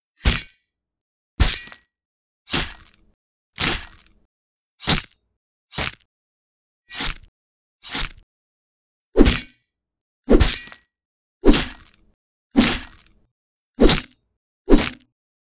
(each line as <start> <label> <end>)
1.4 sword stabs 1.8
2.5 sword stabs 2.9
3.6 sword stabs 4.0
7.9 sword stabs 8.2
9.2 sword stabs 9.6
10.3 sword stabs 10.8
11.4 sword stabs 11.8
12.6 sword stabs 13.0
13.8 sword stabs 15.0